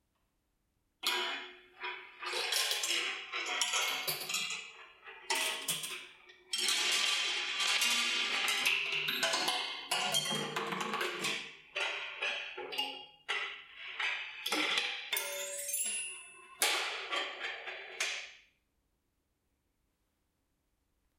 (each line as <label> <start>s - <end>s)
balls on a kinetic structure 1.0s - 18.6s